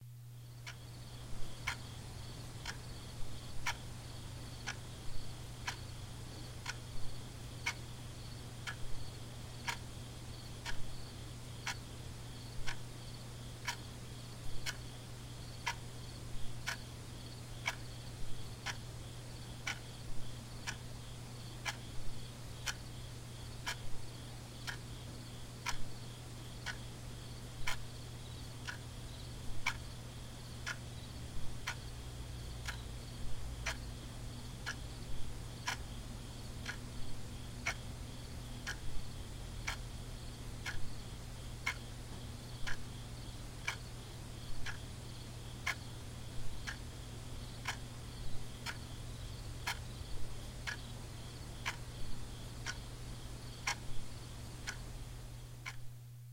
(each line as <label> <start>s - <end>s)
clock tik tak 19.6s - 19.8s
clock tik tak 29.6s - 29.8s
clock tik tak 44.6s - 44.9s
clock tik tak 49.6s - 49.9s
clock tik tak 53.6s - 54.0s